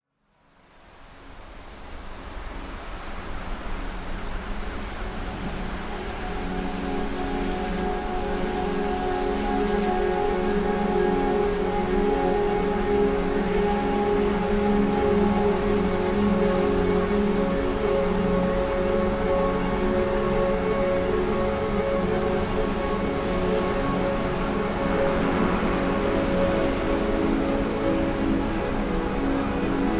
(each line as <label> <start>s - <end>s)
rain 0.2s - 29.9s